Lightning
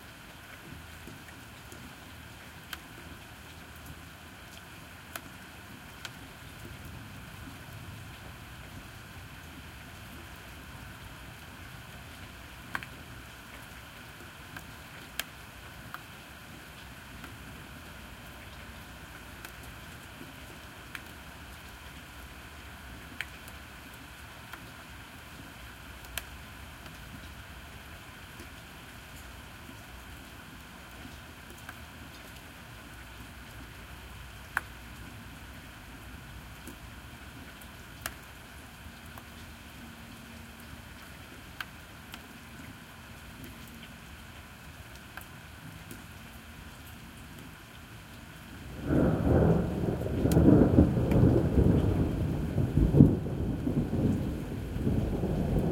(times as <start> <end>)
48.7 55.7